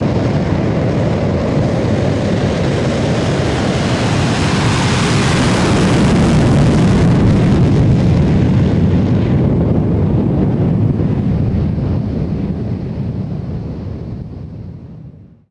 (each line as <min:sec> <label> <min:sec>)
0:00.0 Jet plane launching on an airfield 0:14.9